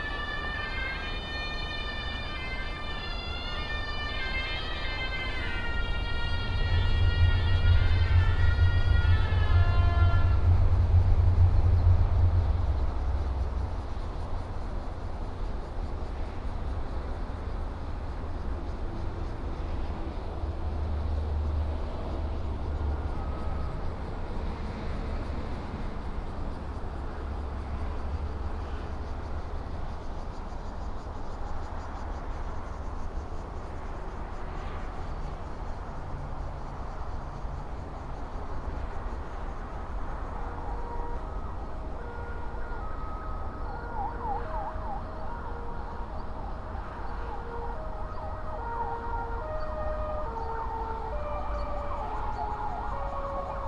high speed railway 0.0 - 53.6
traffic sound 0.0 - 53.6

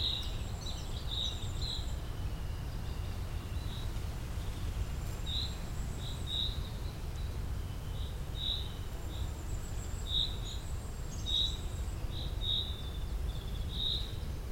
eurasian blackcap 0.0 - 2.2
blackbird 0.0 - 4.6
common chaffinch 0.0 - 14.5
short-toed treecreeper 0.0 - 14.5

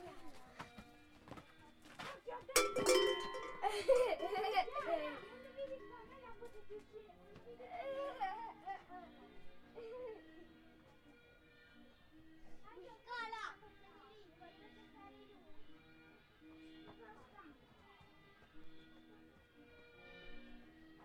children playing with bells 2.4 - 10.3

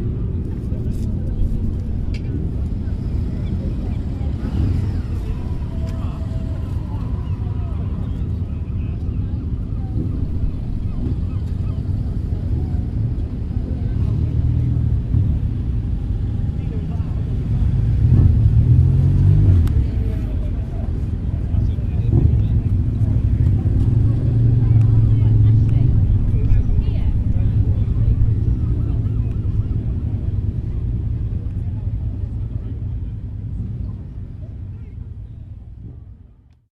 motorbike meet 0.0 - 36.5

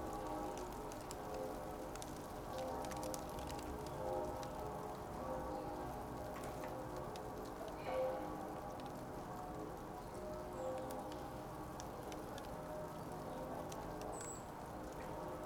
churchbells 0.0 - 15.4
icy rain 0.0 - 15.4

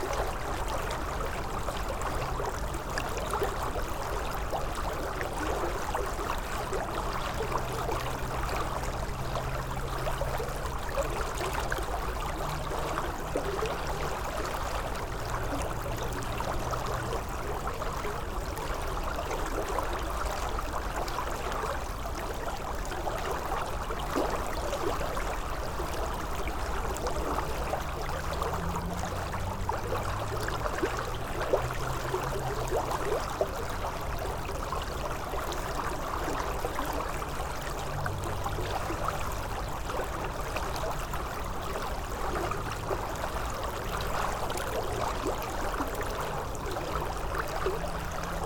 crystal river 0.0 - 48.4

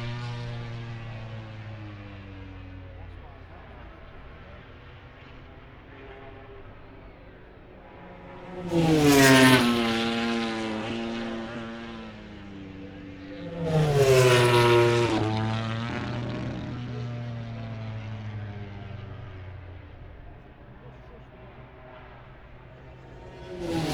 moto grand prix free practice four 0.0 - 23.9

